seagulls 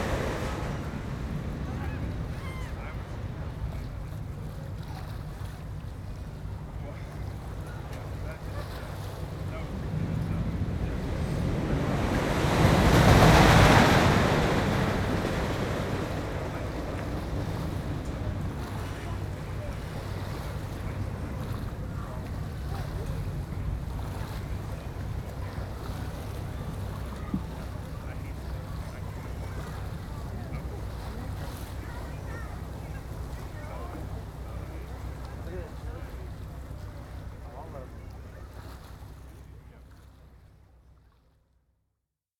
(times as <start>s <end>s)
1.7s 2.9s